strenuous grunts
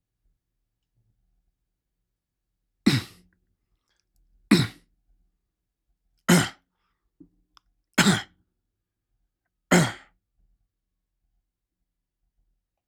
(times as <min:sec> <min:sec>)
0:02.9 0:03.2, 0:04.5 0:04.8, 0:06.3 0:06.6